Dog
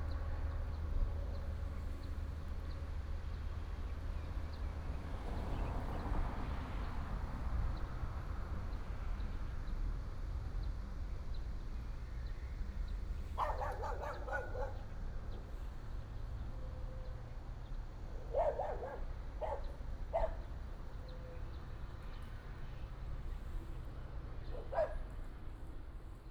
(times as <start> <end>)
13.4 14.9, 18.2 20.5, 24.5 25.1